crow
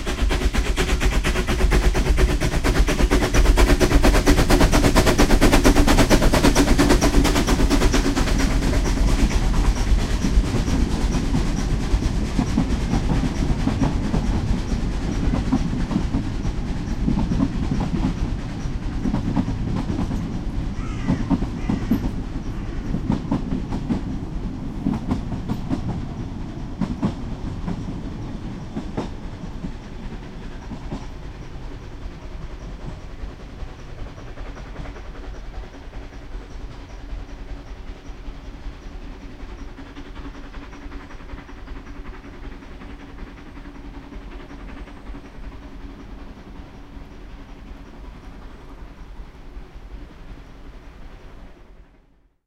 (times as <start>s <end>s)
20.8s 22.9s